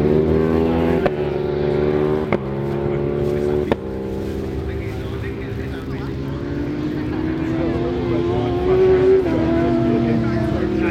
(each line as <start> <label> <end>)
0.0 World Superbikes 10.9